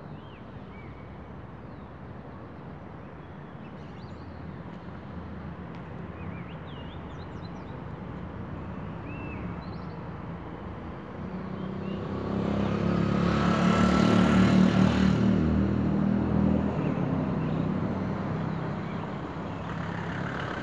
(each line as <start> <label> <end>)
0.0 birds are singing in the background 20.6
0.0 cars and buses pass by 20.6